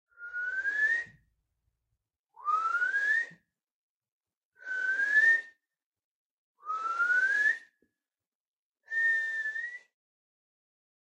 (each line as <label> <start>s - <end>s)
whistle 0.1s - 1.3s
whistle 2.4s - 3.6s
whistle 4.6s - 5.7s
whistle 6.6s - 7.9s
whistle 8.9s - 10.0s